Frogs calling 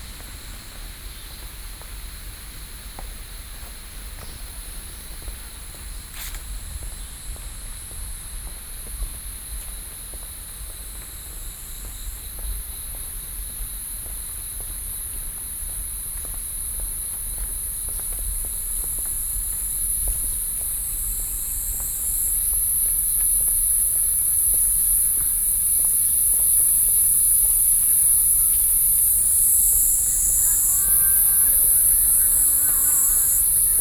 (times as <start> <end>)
26.0 33.8